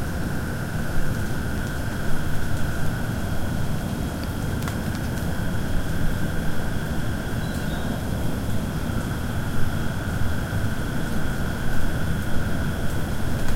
0.0s insects 13.5s
5.4s frogs 8.1s

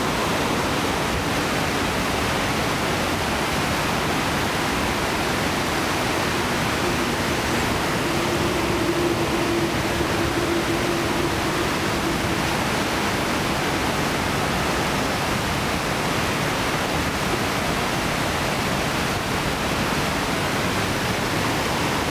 4.8s very fast and noisy current 15.3s

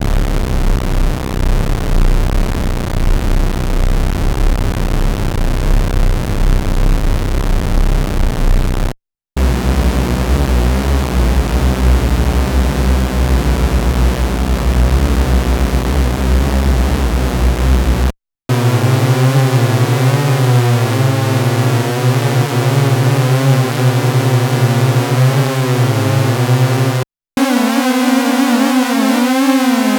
27.4s hornet-cluster supersaw sound 29.9s

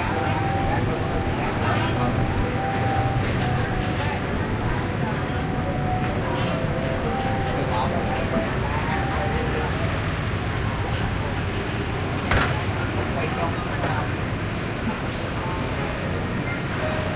0.0s Vietnamese voices 16.4s
0.0s construction site in the background 17.1s
0.0s traffic 17.1s

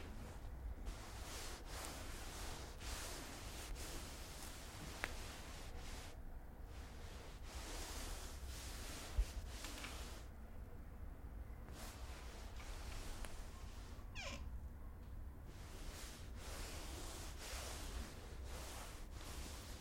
0.0s synthetic fabrics rubbing 10.3s
15.5s synthetic fabrics rubbing 19.8s

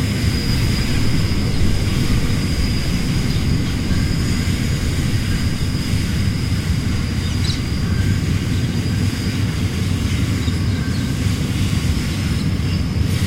0.0s deisel engine 11.0s
0.0s Steel on Steel 13.2s
0.0s freight train passing 13.2s

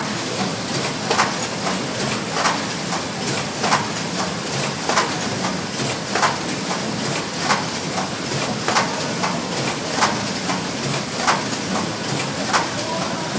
4.7s packaging machine 13.3s

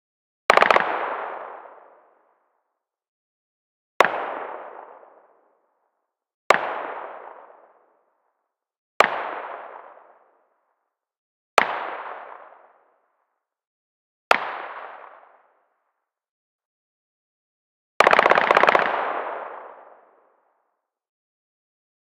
18.0s Rapid Fire Sub Machine Gun distant 20.4s

